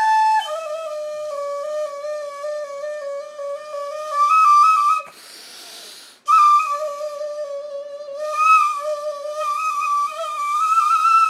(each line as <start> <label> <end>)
0.0 Indian bamboo flute 11.2